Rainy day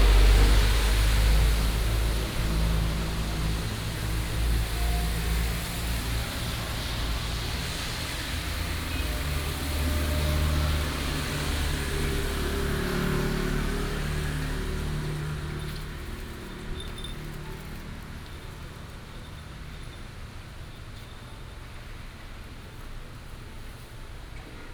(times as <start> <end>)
0.0 18.4